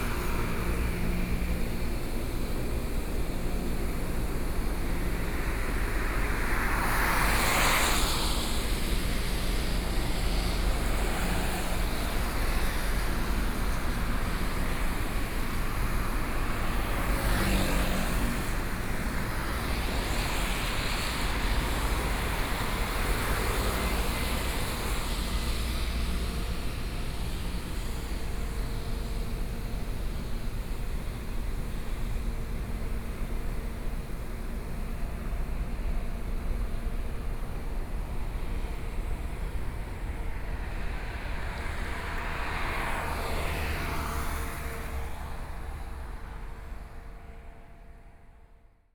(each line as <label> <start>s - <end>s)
Cement plant across the road noise 0.0s - 48.3s
Traffic noise 0.0s - 48.4s